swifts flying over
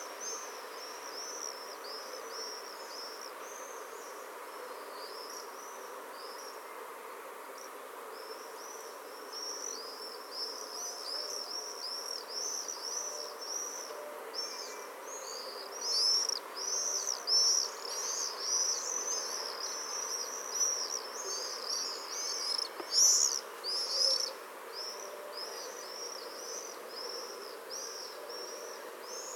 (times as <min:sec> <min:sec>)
0:11.5 0:29.3